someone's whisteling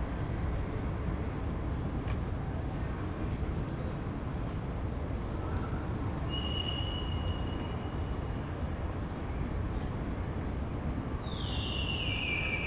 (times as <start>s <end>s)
11.5s 12.6s